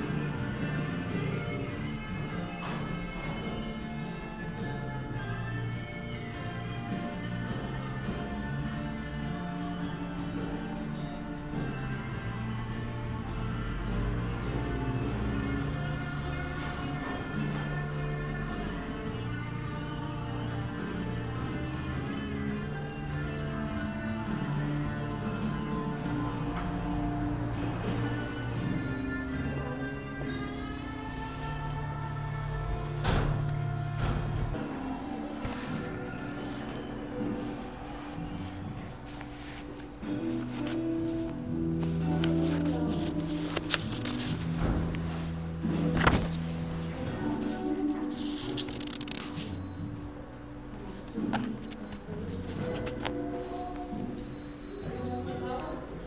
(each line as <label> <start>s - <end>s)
leaves of small red notebook 35.2s - 49.6s